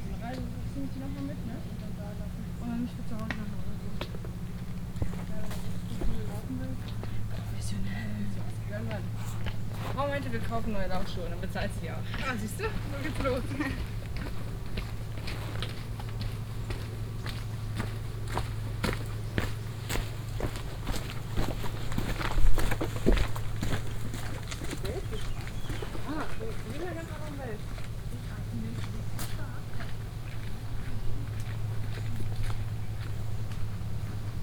0.0s diesel engine of a ferry 34.4s
0.0s hikers passing by 34.4s

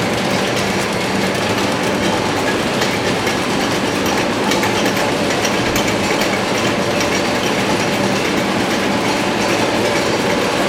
0.0s machine 10.6s

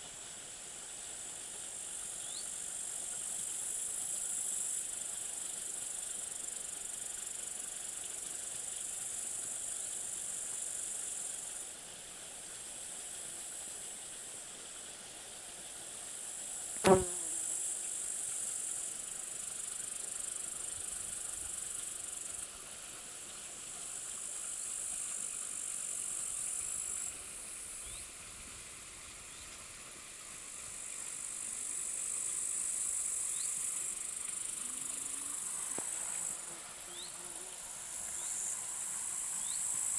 0.0s side creek 17.0s
16.7s Bumblebee 18.2s
17.6s side creek 39.9s
32.8s Bumblebee 39.9s

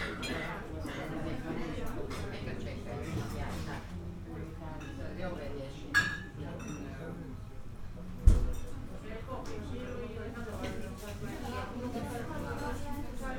0.0s conversations of guests 13.3s

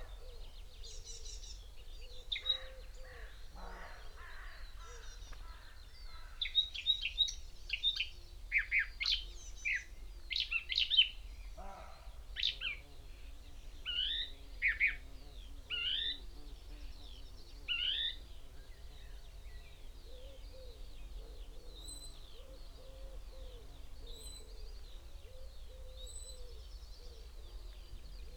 2.4s crow 6.5s
11.6s crow 12.5s

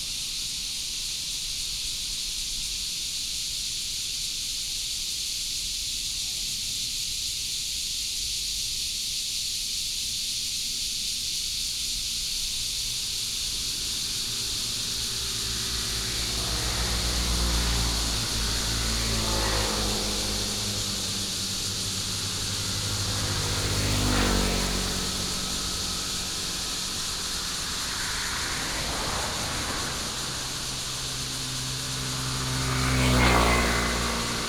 0.0s Cicada 34.4s
10.6s traffic sound 34.4s

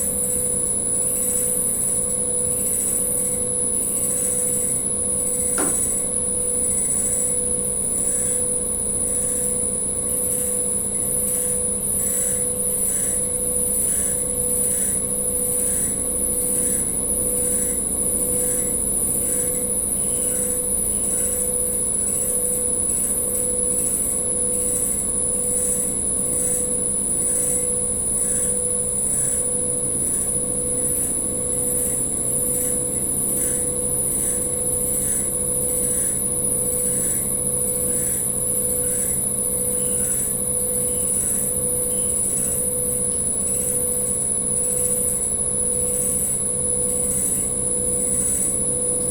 0.0s air conditioning 49.1s

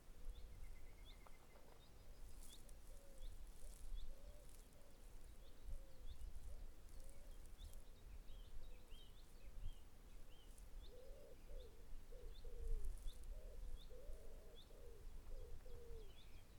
0.0s Walking through trees 11.2s
0.0s birds basking in the sunshine 16.5s
12.7s Walking through trees 14.1s

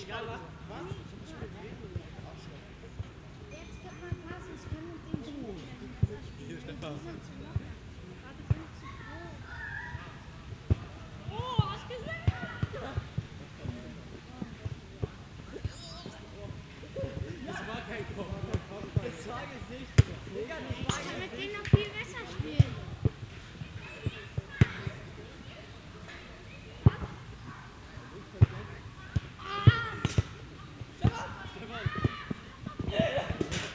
0.0s youngsters playing soccer 33.7s

